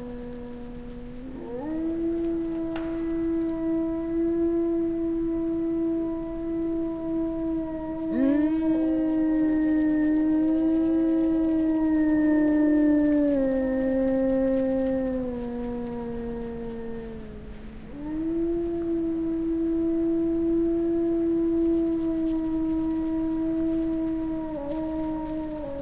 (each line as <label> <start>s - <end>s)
Wolves howling, small pack 0.0s - 25.8s